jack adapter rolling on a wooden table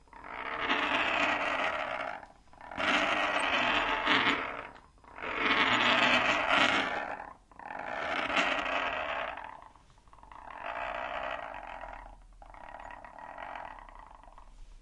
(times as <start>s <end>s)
0.2s 7.2s